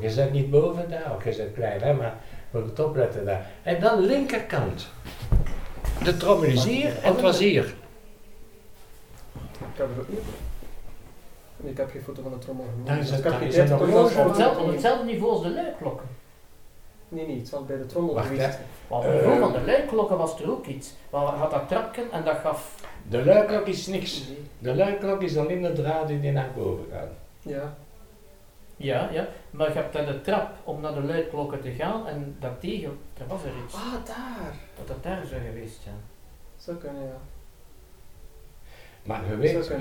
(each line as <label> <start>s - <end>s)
people speak dutch 6.0s - 7.9s
people speak dutch 28.8s - 37.3s